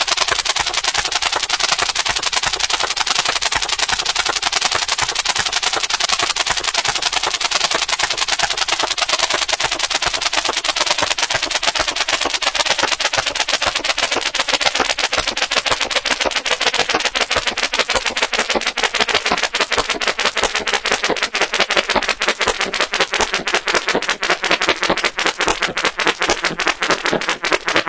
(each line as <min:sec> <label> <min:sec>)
0:00.0 weird beat 0:27.8